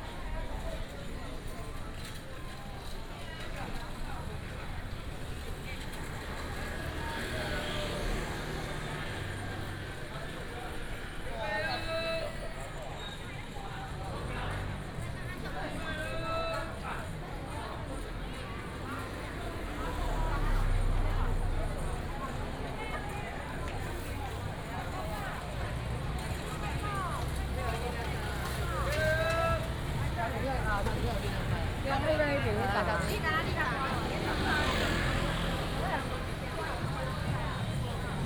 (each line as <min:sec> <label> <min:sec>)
0:00.0 Traffic sound 0:38.2
0:16.1 Market sound 0:38.2